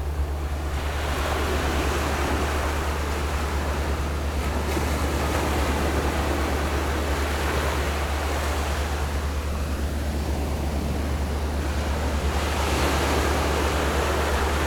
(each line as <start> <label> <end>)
0.0 waves 14.6